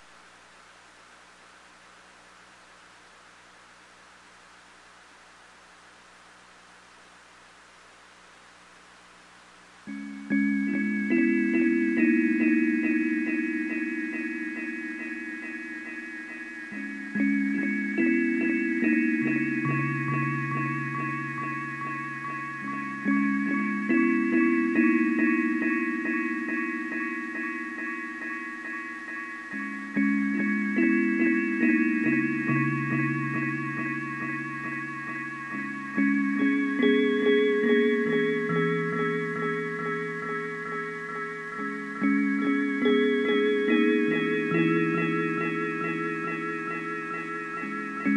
9.9s synth 48.1s

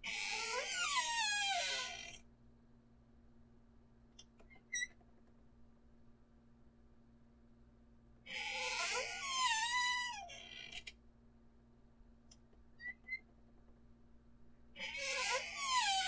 0.0s creaky door 2.2s
8.3s creaky door 10.9s
14.8s creaky door 16.0s

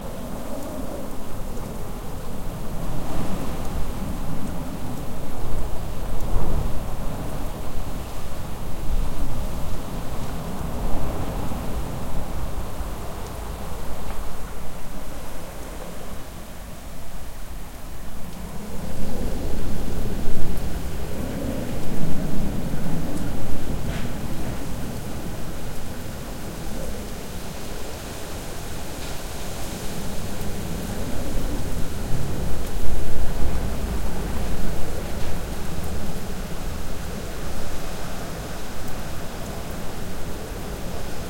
0.0s rain 41.2s
0.0s wind 41.2s

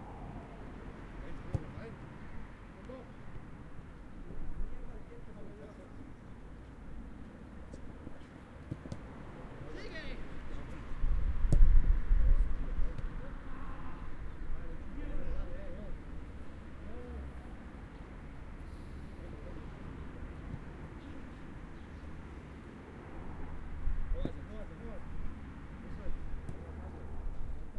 0.0s Entrenamiento Futbol Adultos 6.2s
7.0s Entrenamiento Futbol Adultos 17.9s

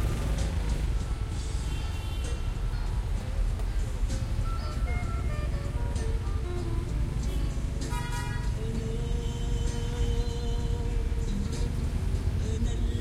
0.0s Background music 13.0s
0.0s Traffic 13.0s
4.9s Horns 8.7s

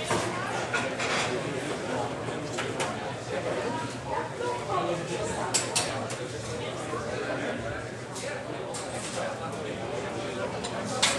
0.0s Crowd 11.1s

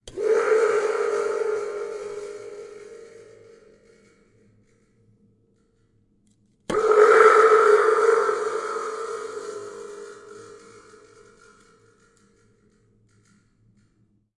0.1s Thunder Toy 3.7s
6.7s Thunder Toy 11.4s

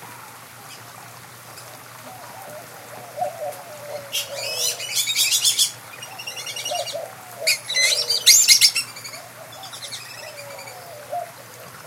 0.0s Inca Dove 11.8s
0.0s White-winged Dove 11.8s
0.0s small stream 11.8s
0.6s Great-tailed Grackle 11.8s
3.2s Gila Woodpecker 11.6s
3.2s Northern Cardinal 11.8s

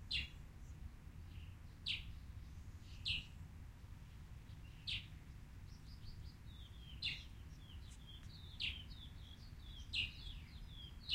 0.0s subtle wind and trees 11.1s
5.7s Birds chirping 11.1s

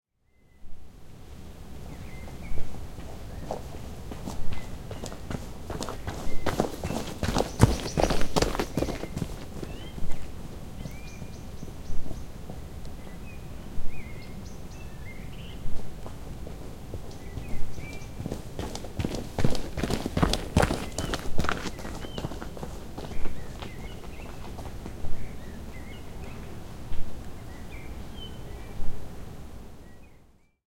1.8s birds 28.9s
2.8s Jogger 11.4s
15.7s Jogger 25.2s

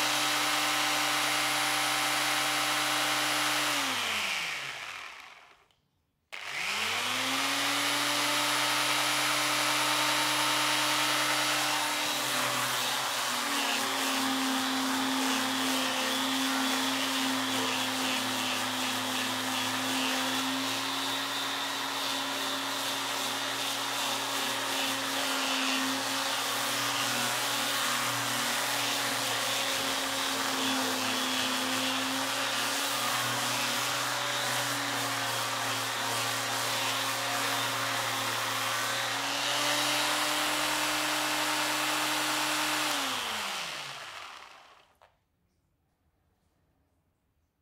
0.0s Electric Sander start/stop and sanding at different speeds 5.8s
6.4s Electric Sander start/stop and sanding at different speeds 45.1s

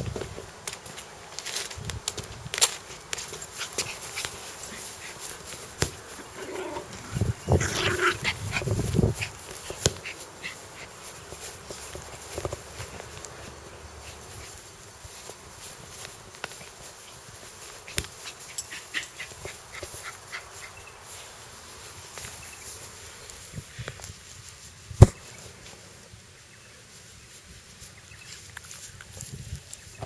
6.1s Dog growling 8.8s

